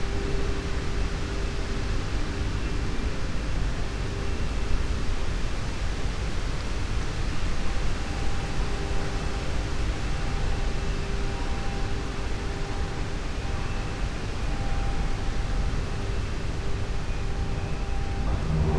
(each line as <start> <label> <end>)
0.0 wind 18.7